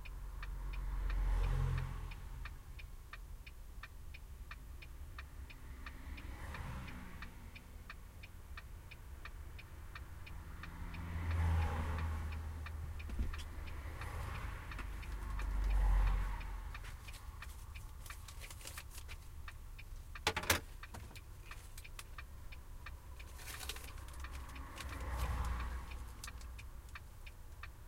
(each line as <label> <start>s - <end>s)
passing by cars 0.0s - 27.8s